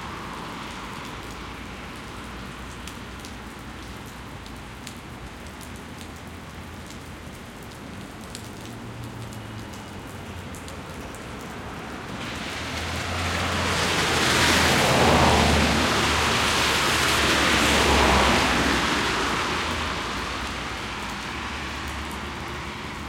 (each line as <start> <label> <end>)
0.0 rain 23.0
7.4 bus 23.0
8.3 traffic going past 23.0
12.1 splash 23.0